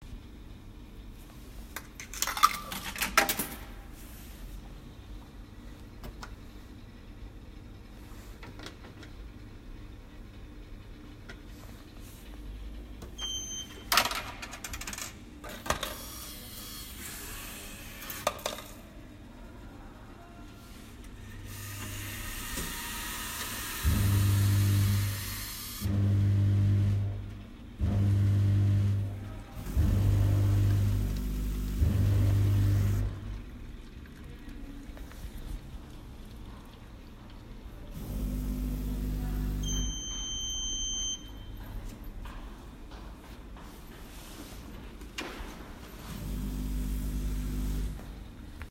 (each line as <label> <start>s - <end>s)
old vending machine with a cool BWAH sound 20.9s - 33.4s